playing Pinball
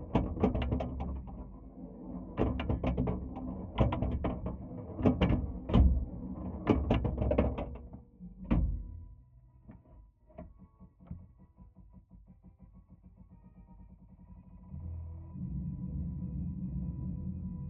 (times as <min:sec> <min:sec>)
0:00.1 0:08.0